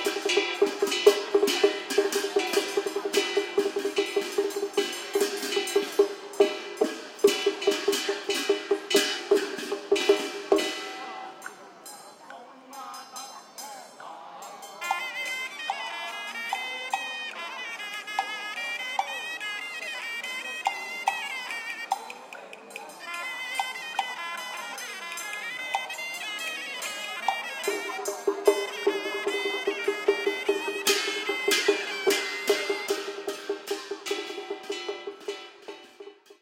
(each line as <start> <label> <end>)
0.0 Elderly were chatting 36.1
0.0 Chinese musical instruments 36.4
9.2 human voices 19.4